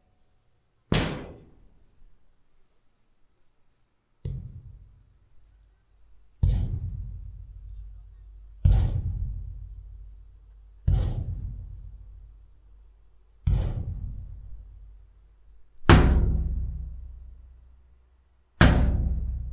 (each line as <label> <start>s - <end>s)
Hitting metal surface with stick 4.2s - 4.9s
Hitting metal surface with stick 6.4s - 12.7s
Hitting metal surface with stick 13.4s - 15.0s